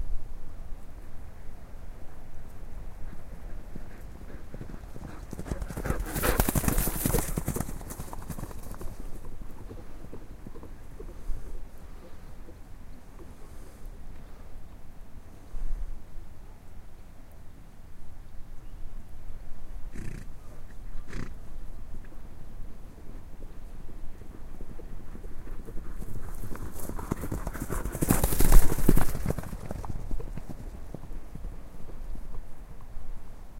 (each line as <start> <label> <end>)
2.4 Gallopping ponies / horses 14.2
19.9 Gallopping ponies / horses 33.0